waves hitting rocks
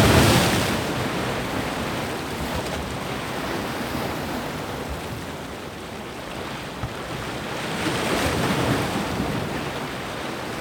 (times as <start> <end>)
0.0 1.3